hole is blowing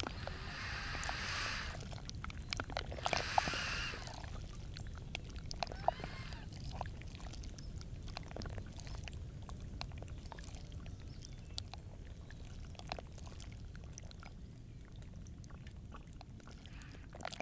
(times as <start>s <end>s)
0.0s 1.9s, 3.0s 4.2s, 5.7s 6.5s